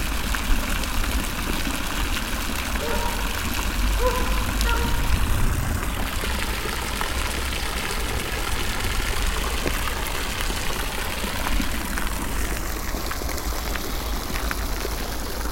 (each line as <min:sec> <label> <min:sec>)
0:00.0 fountain 0:15.5